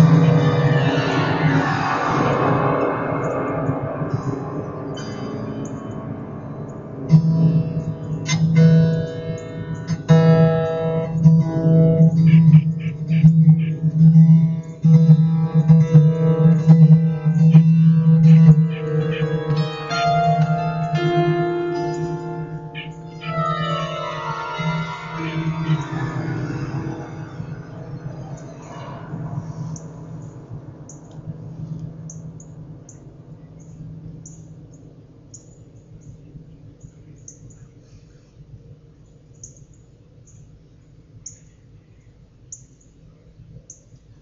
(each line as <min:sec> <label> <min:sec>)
0:00.0 strummed the strings 0:34.3